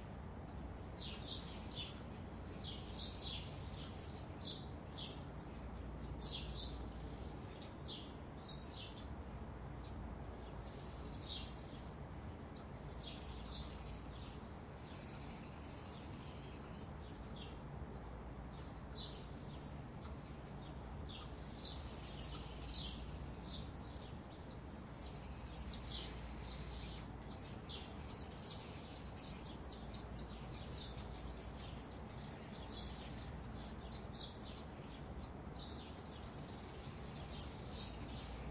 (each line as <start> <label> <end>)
0.0 sparrows chirping in the background 38.5
21.1 pair of Golden Lion Tamarins calling 38.5